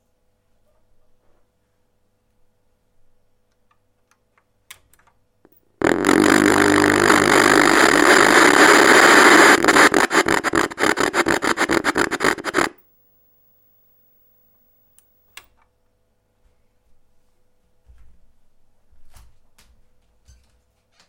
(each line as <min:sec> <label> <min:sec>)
0:05.5 noises from my broken TV set 0:15.4